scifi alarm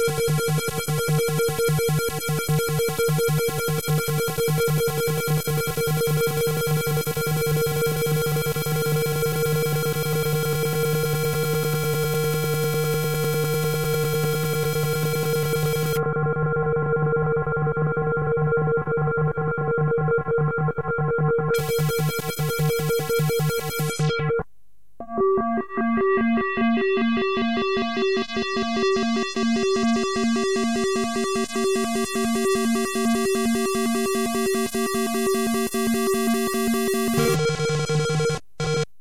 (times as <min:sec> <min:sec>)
0:06.6 0:16.0, 0:21.6 0:24.1, 0:35.9 0:37.6